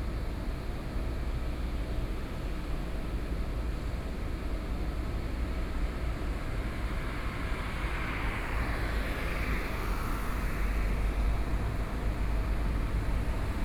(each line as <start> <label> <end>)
5.1 Traffic noise 13.6
6.7 Cement plant across the road noise 13.6